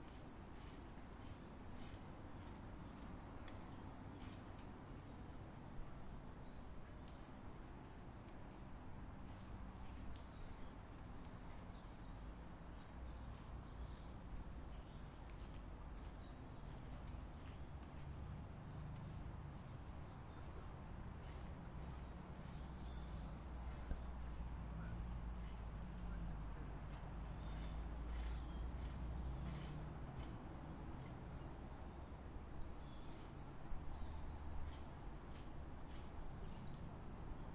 birds 0:00.0 - 0:37.5
distantcars 0:00.0 - 0:37.5

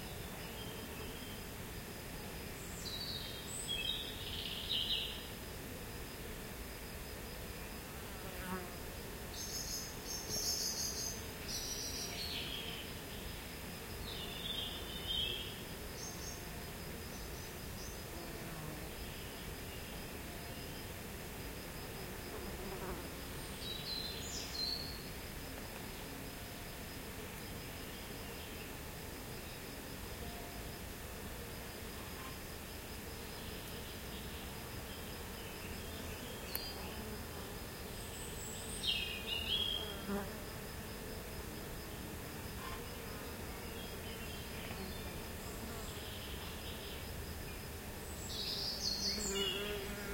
insects 0:00.0 - 0:50.1
wind 0:00.0 - 0:50.1
birds 0:48.1 - 0:50.0

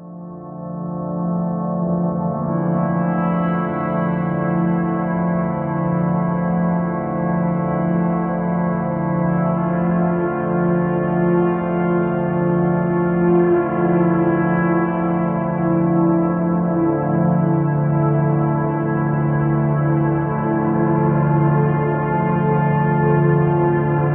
synthesizer 0:00.0 - 0:24.1

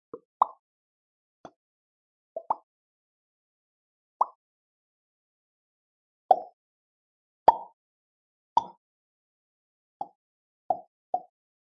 Pops with mouth 0:07.5 - 0:07.7
Pops with mouth 0:08.6 - 0:08.8

